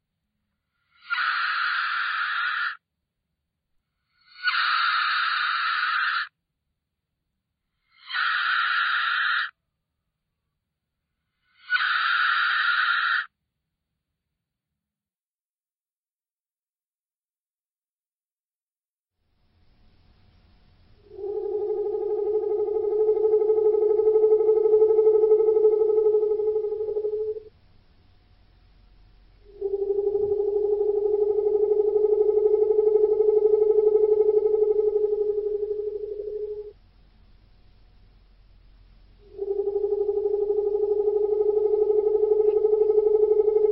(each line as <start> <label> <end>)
0.6 Unholy animal and mosnters sounds 2.8
3.9 Unholy animal and mosnters sounds 6.4
7.7 Unholy animal and mosnters sounds 9.6
11.2 Unholy animal and mosnters sounds 13.4
20.9 Unholy animal and mosnters sounds 27.5
29.3 Unholy animal and mosnters sounds 36.8
38.9 Unholy animal and mosnters sounds 43.7